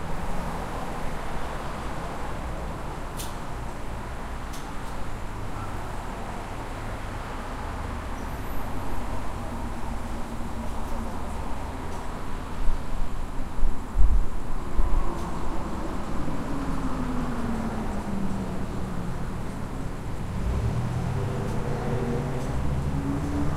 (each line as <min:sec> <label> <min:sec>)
0:00.0 traffic 0:23.5